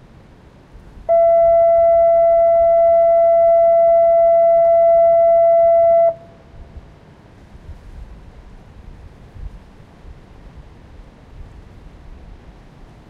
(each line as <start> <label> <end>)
0.0 ocean 13.0
1.1 Fog Signal 6.3